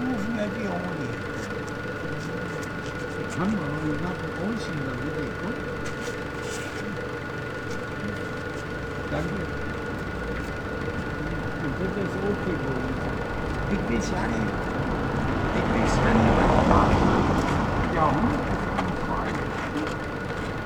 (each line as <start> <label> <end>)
0.0 sewer works site 20.6